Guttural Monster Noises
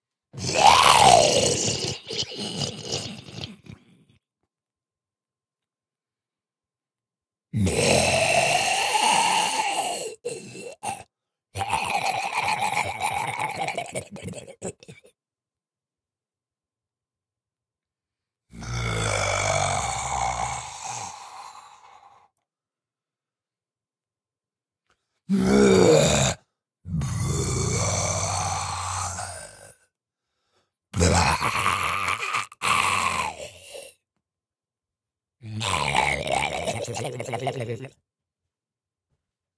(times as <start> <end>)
0.3 4.0, 7.6 15.1, 18.5 22.3, 25.3 29.8, 30.9 34.0, 35.4 38.0